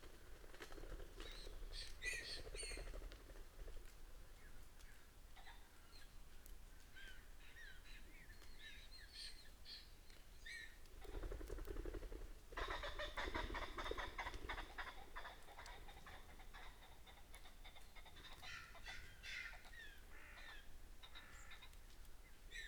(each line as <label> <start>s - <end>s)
red-legged partridge 12.6s - 21.9s
crow 18.4s - 21.8s